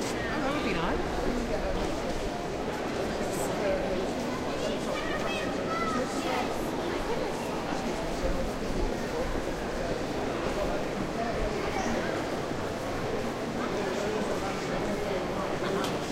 0.0s people walk close to the recorder 16.1s

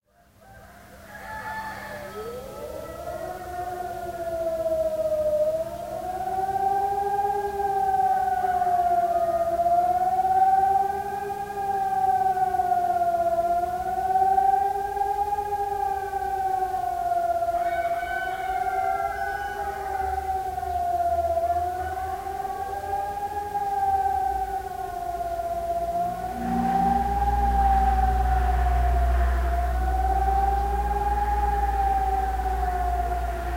0.0s sirens 33.5s
0.1s roosters 5.2s
0.3s traffic 33.5s
16.7s roosters 23.2s

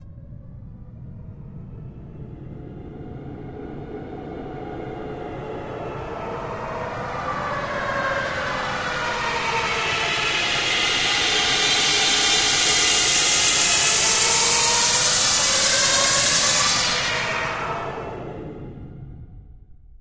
6.1s White noise sweep 19.2s

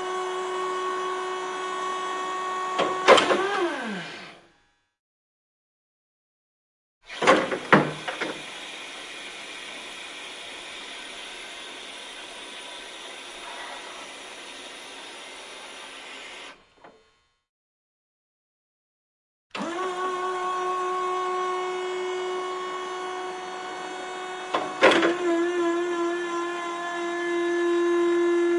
0.0s scissor lifts machines up down hydraulic movements2 4.5s
7.1s scissor lifts machines up down hydraulic movements2 17.3s
19.5s scissor lifts machines up down hydraulic movements2 28.5s

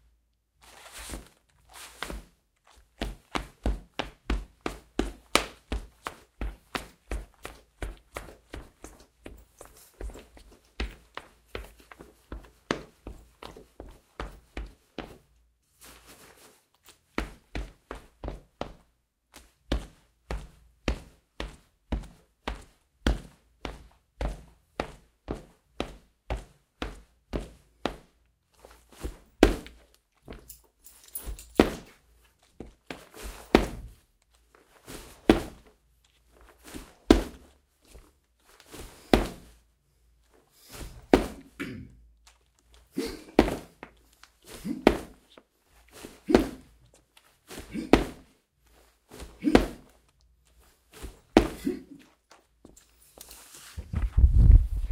50.6s Footsteps 54.9s

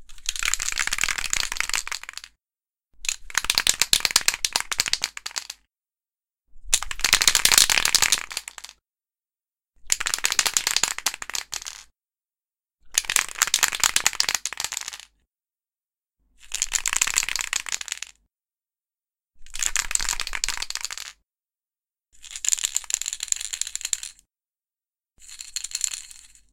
0.1s shaking spray paint can with rattle 2.3s
3.0s shaking spray paint can with rattle 5.6s
6.7s shaking spray paint can with rattle 8.8s
9.9s shaking spray paint can with rattle 11.9s
12.9s shaking spray paint can with rattle 15.1s
16.5s shaking spray paint can with rattle 18.1s
19.5s shaking spray paint can with rattle 21.2s
25.2s shaking spray paint can with rattle 26.5s

